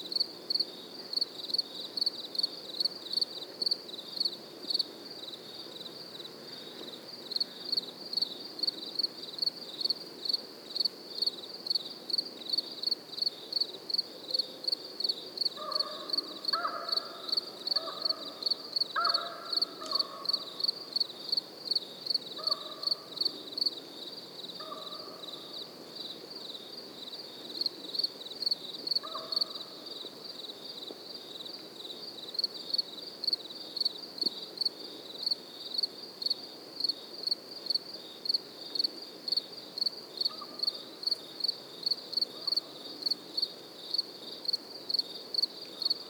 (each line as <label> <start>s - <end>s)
other summer insects 0.0s - 46.0s